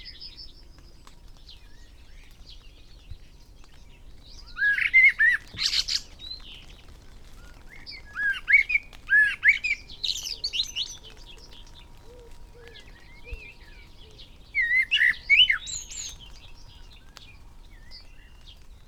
0.0s background noise 18.8s
0.0s blackbird song 18.8s
0.0s goldfinch song 18.8s
0.0s moisture dripping from trees 18.8s
0.0s pheasant 18.8s
0.0s song thrush 18.8s
0.0s willow warbler 18.8s
3.8s skylark 18.8s
4.6s wood pigeon 18.8s

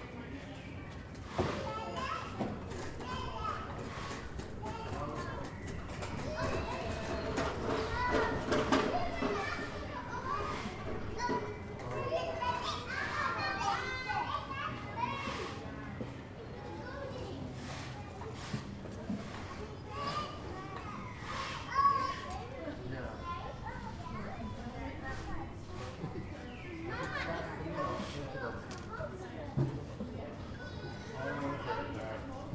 0.0s Parents collect their children 32.5s
0.0s slight wind 32.5s

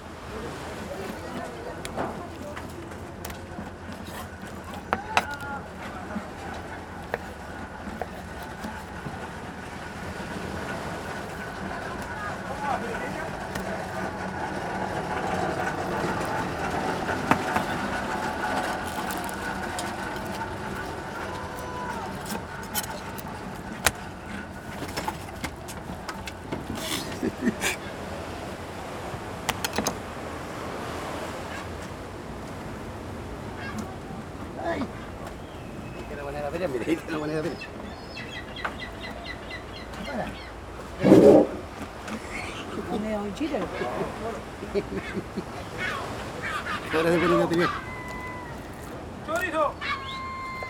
0.0s Man cutting and cleaning fishes 50.6s
0.0s waves 50.6s
0.2s voices 28.0s
33.5s birds 50.6s
33.6s voices 50.6s

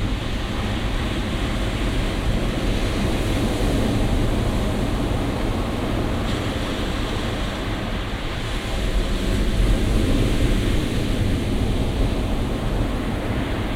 0.0s atlantic ocean 13.7s

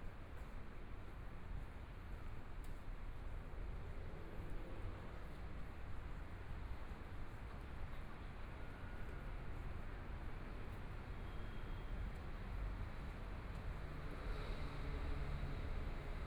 9.9s Traffic Sound 16.2s

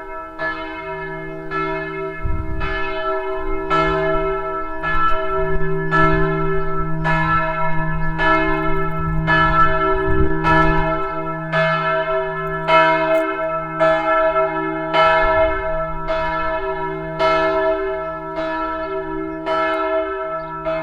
0.0s church bells 20.8s

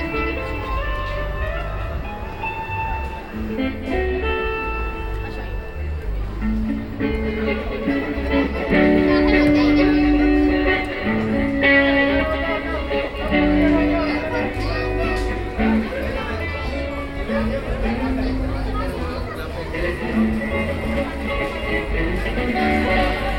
0.0s Guitarist 23.3s

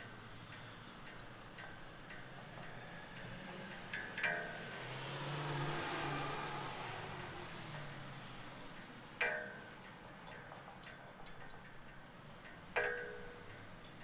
0.0s Flag poles playing in the wind 14.0s

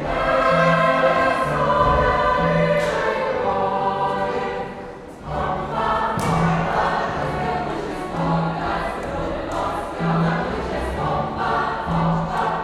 0.0s folk ensemble reheashal 12.6s

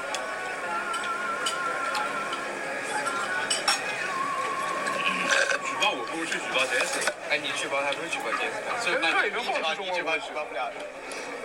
0.0s Chinese students having dinner 11.4s

